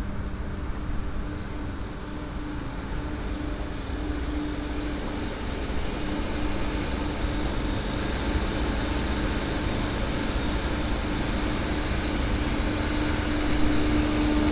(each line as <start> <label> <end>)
0.0 outdoor airco system 14.5